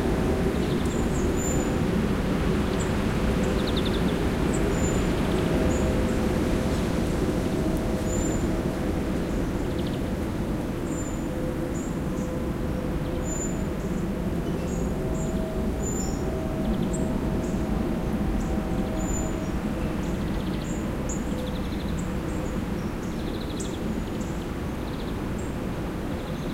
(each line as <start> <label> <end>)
0.0 storm of wind 26.5